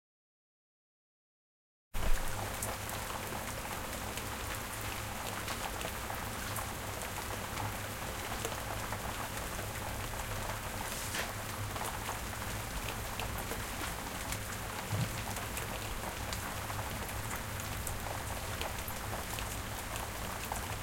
2.0s rain 20.8s

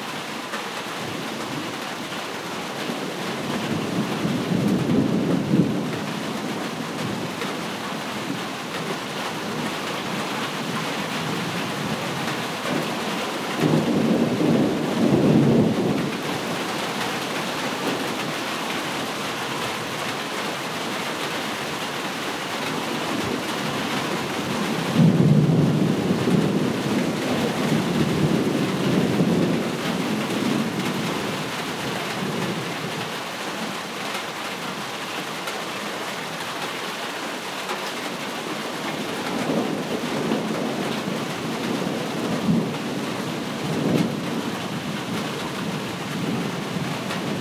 0.0s Rain 47.4s
13.6s thunder 16.2s
24.3s thunder 31.1s
39.0s thunder 44.5s

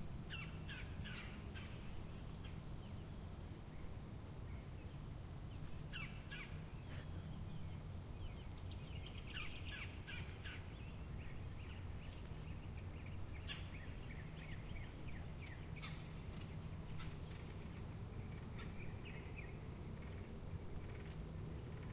0.0s birds 21.9s

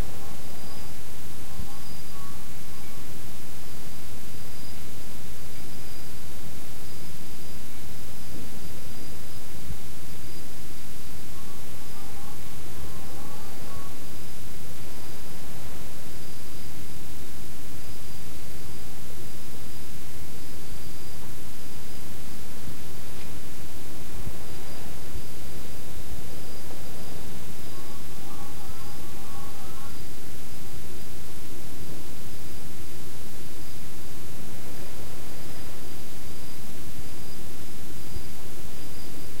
0.0s Crickets far away 39.4s

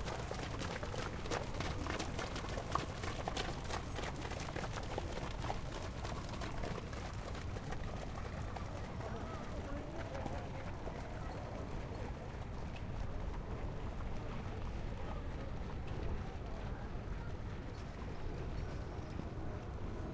0.0s Horses walking by on sloppy track 20.1s

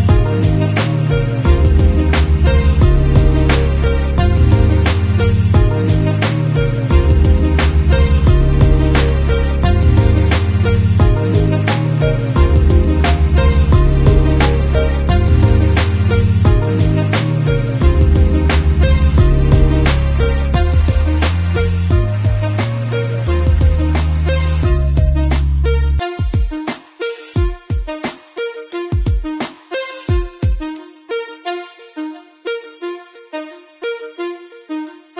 0.0s outro music 26.6s

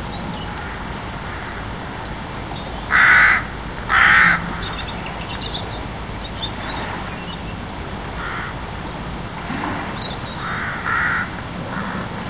0.0s sparrows 9.0s
0.0s tide 12.2s
2.9s crow 4.8s
8.2s crow 8.7s
9.9s sparrows 12.2s
10.4s crow 12.2s

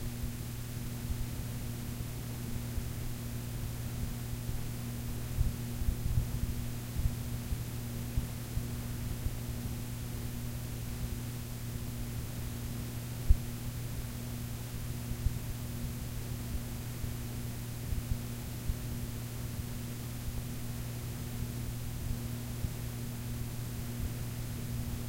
0.0s warm tape hiss from a cassette 25.0s

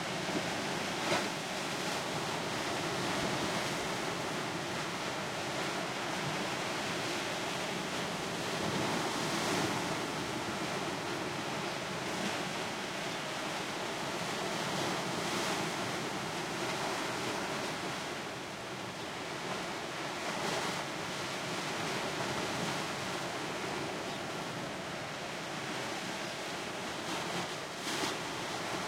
0.0s Powerful Waves 28.8s

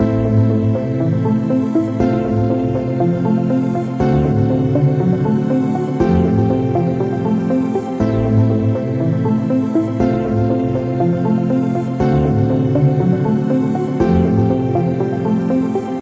0.0s Synth 16.0s

